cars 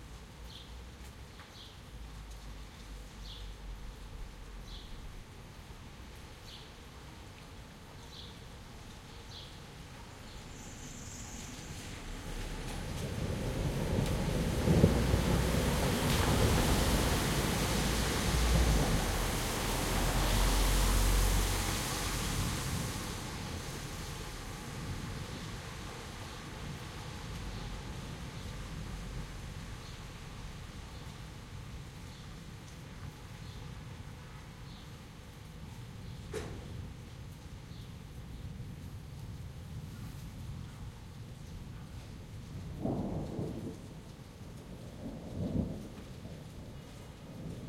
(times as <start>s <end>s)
11.7s 24.8s